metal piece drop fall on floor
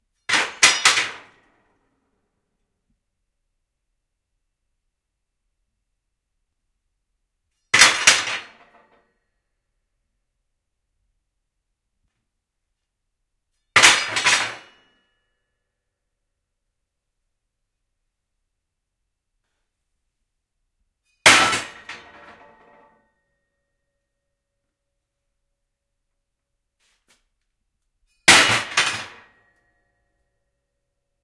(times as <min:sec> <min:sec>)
0:13.8 0:14.9, 0:28.3 0:29.7